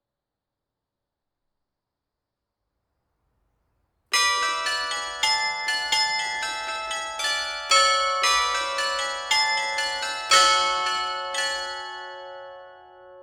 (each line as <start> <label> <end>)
4.2 Carillon 13.2